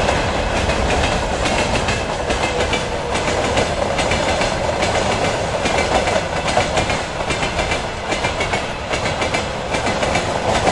Freight train 0:00.0 - 0:10.7

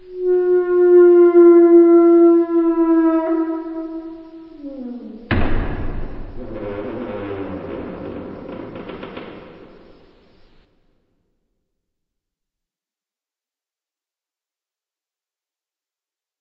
Door creaking 0:00.0 - 0:10.7
slamming 0:04.7 - 0:10.2

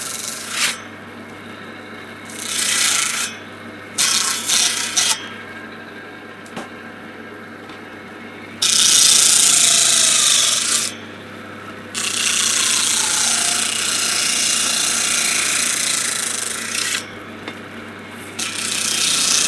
saw 0:00.0 - 0:00.9
saw 0:02.2 - 0:05.4
saw 0:08.6 - 0:11.0
saw 0:11.9 - 0:17.2
saw 0:18.2 - 0:19.4

